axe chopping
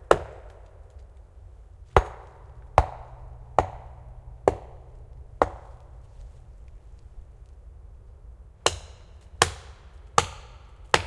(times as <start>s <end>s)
0.1s 0.6s, 1.9s 6.6s, 8.6s 11.0s